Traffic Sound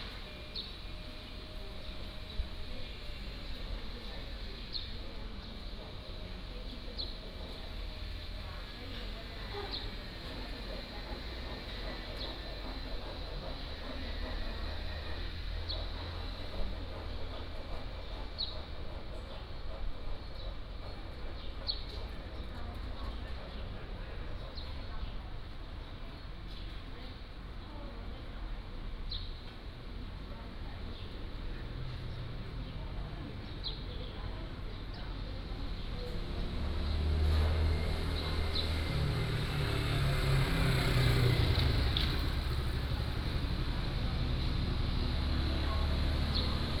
0:31.7 0:46.8

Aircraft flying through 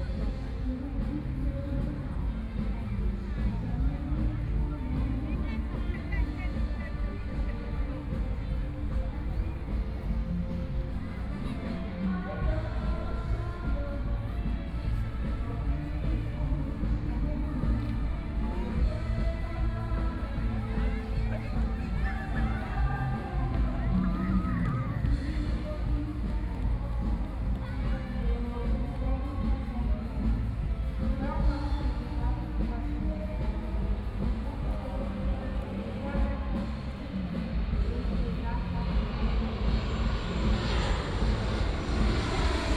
0:37.4 0:42.7

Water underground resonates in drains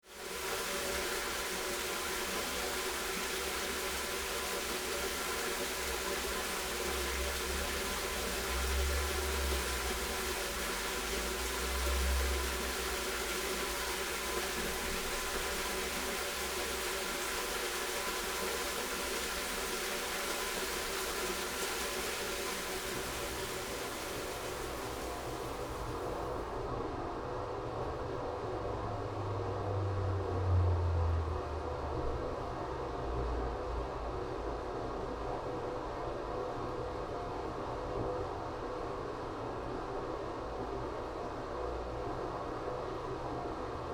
0:00.1 0:26.6

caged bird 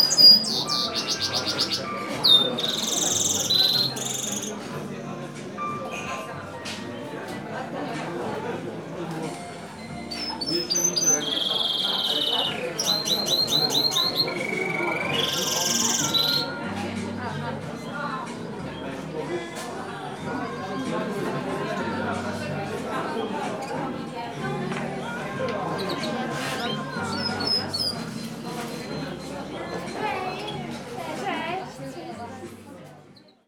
0:00.0 0:04.9, 0:09.8 0:19.5, 0:25.0 0:30.9

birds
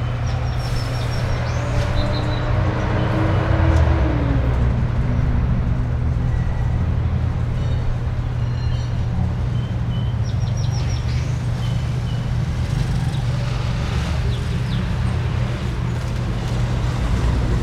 0:00.0 0:03.8, 0:07.5 0:16.7

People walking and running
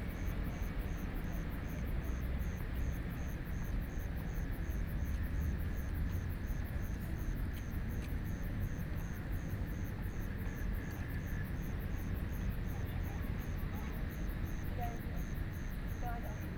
0:06.9 0:11.3

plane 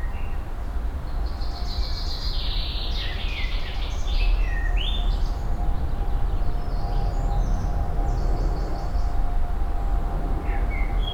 0:03.0 0:11.1

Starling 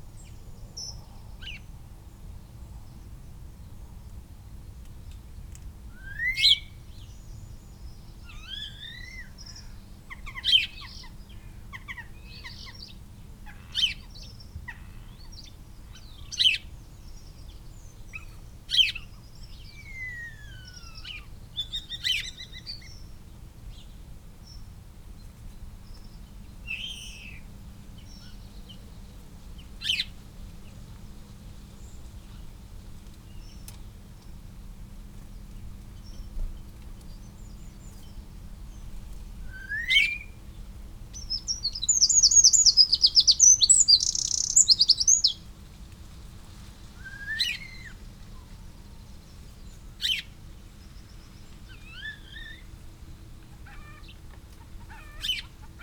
0:41.3 0:45.4

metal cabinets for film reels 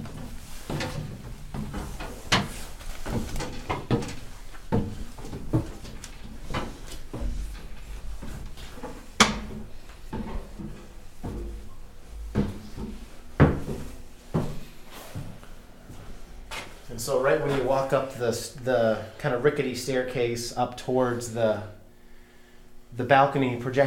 0:00.0 0:13.0

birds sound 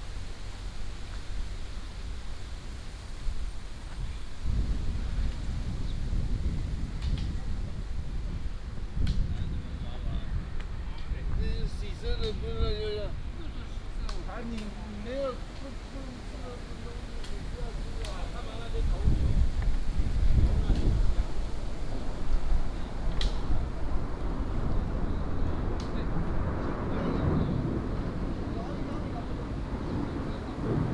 0:12.8 0:30.9

